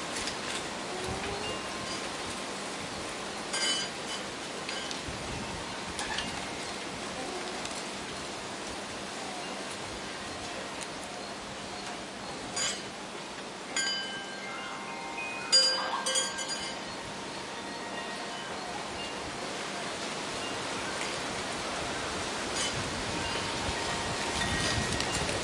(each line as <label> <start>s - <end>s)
Gentle breeze 0.0s - 25.4s
wind chime 13.7s - 19.3s
wind chime 23.2s - 25.3s